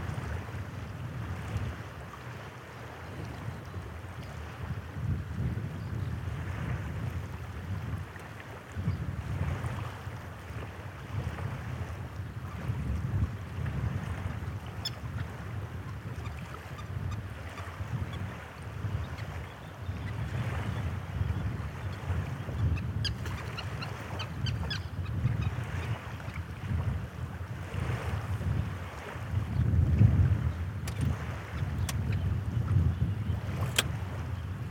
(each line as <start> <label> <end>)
1.7 seabirds 4.7
14.0 seabirds 26.6
27.6 seabirds 34.7